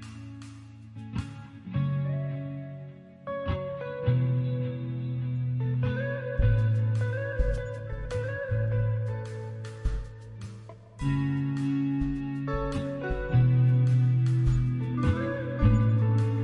0.0s drums 1.5s
0.0s guitar 16.4s
6.4s drums 16.4s

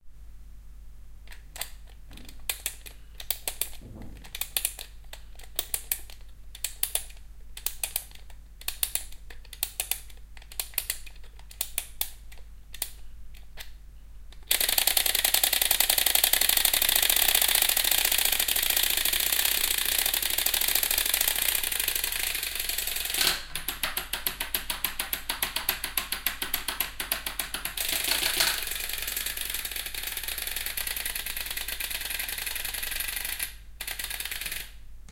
14.5s windup dinosaur 23.3s
27.8s windup dinosaur 34.7s

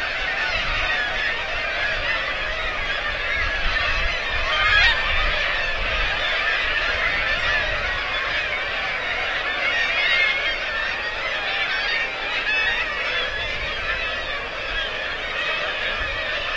0.0s Kittiwakes 16.5s

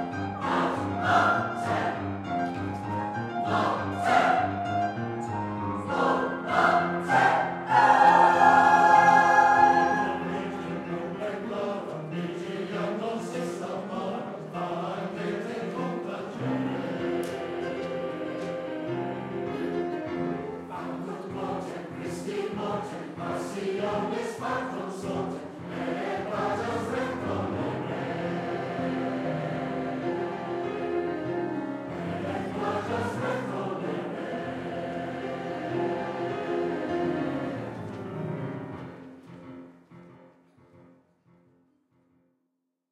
0.0s choir 39.1s

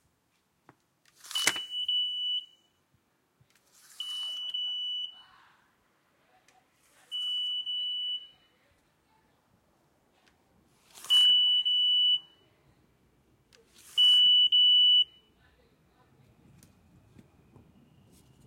10.7s Swiping a Metrocard 11.4s

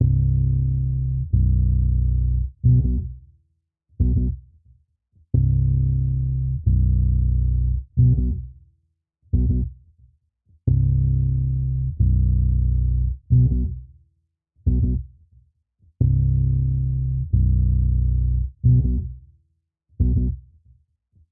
0.0s octave bass wet 3.1s
5.4s octave bass wet 8.4s
9.4s octave bass wet 9.7s
10.7s octave bass wet 13.7s
14.7s octave bass wet 15.0s
16.0s octave bass wet 19.1s
20.0s octave bass wet 20.3s

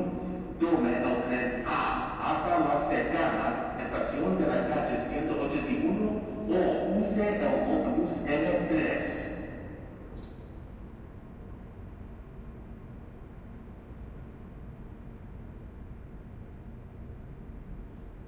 0.0s subway announcement 10.2s

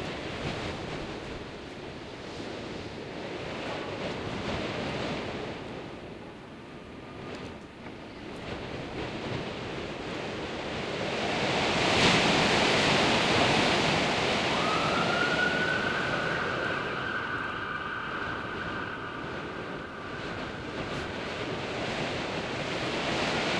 0.0s storm howling beyond the large metal window 23.5s

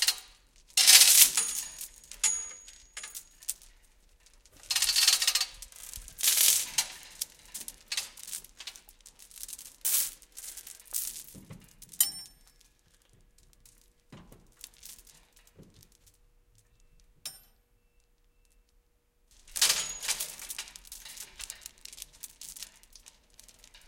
0.8s hoist chains thick rattle 3.4s
4.6s hoist chains thick rattle 8.8s
19.5s hoist chains thick rattle 23.8s

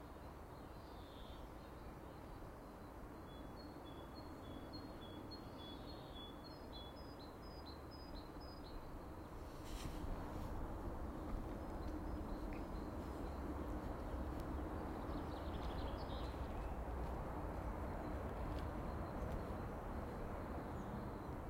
8.7s Distant traffic 21.4s
11.1s Birds singing 16.9s

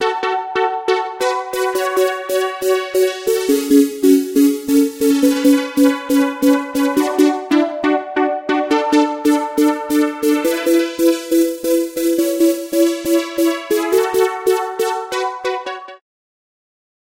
0.1s polyphonic phase distortion synthesizer 15.8s

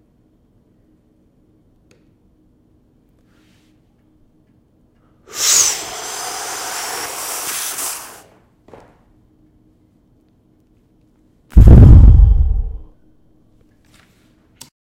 3.2s breathing 3.8s

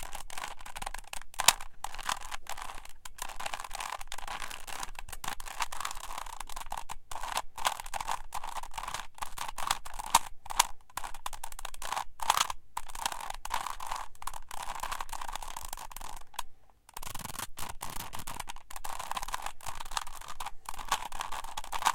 0.0s Rubik's Cube 3x3 21.9s

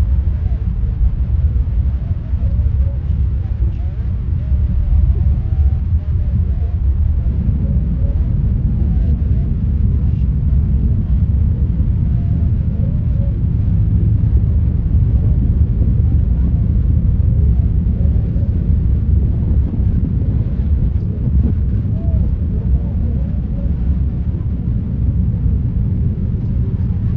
0.0s plane 27.1s
0.0s white noise 27.1s
0.0s whisper 13.8s
15.5s muffled talking 27.1s
15.5s whisper 27.1s

